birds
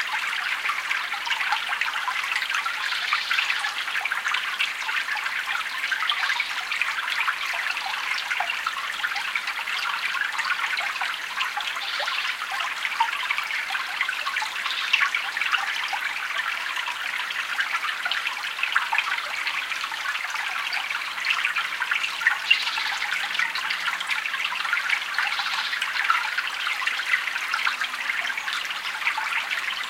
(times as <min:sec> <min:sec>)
0:20.4 0:29.8